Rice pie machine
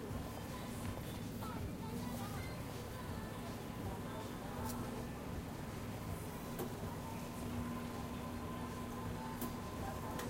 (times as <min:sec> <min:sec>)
0:04.4 0:10.2